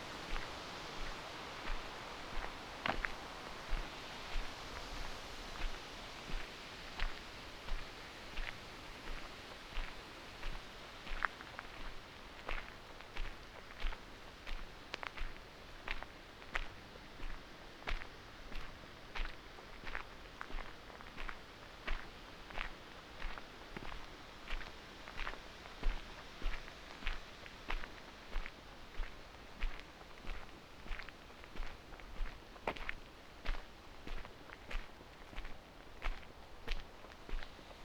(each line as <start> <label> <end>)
0.0 unfiltered winds 13.5
0.0 a walk on a mountain 37.8